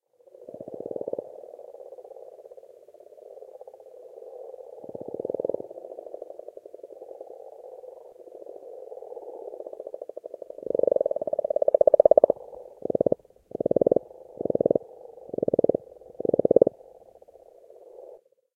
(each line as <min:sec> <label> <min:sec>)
0:00.0 frogs (Rana temporaria) croaking 0:18.4